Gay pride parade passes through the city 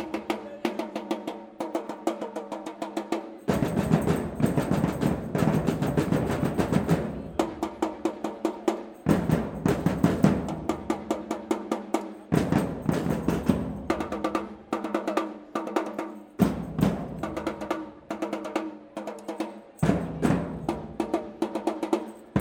3.5 15.0, 19.6 22.4

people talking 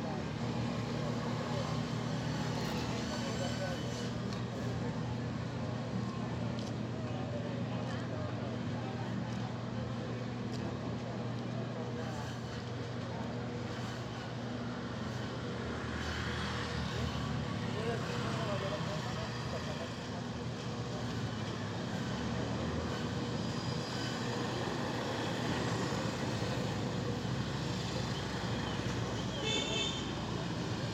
17.7 20.3

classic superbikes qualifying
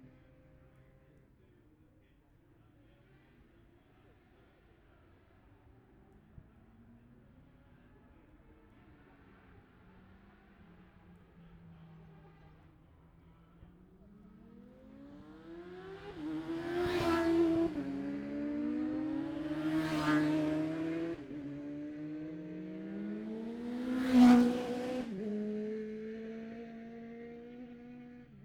9.2 28.4

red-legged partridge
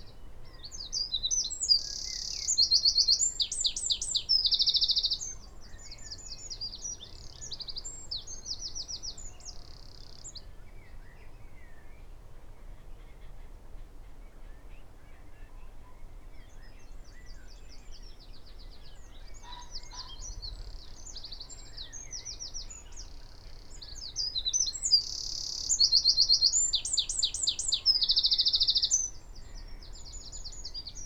19.2 31.0

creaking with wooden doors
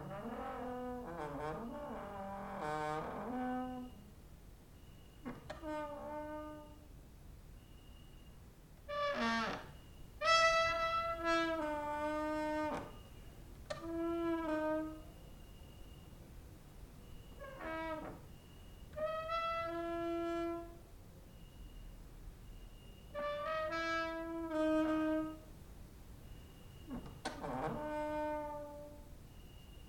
0.0 4.1, 5.2 6.9, 8.9 15.2, 17.2 20.8, 23.1 25.5, 26.8 29.1

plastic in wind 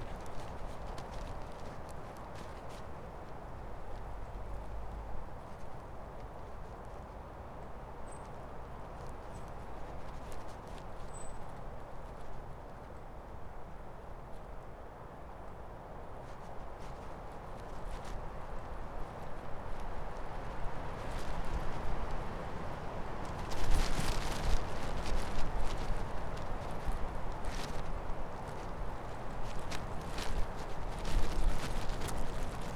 16.1 32.7

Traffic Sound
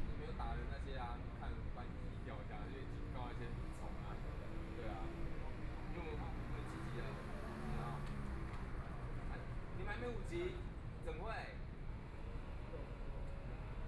2.8 11.0

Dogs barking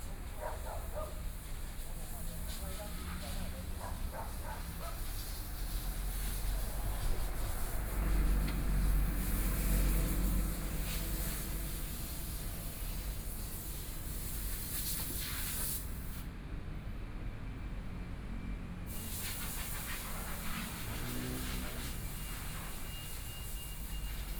0.4 1.2, 3.8 5.1

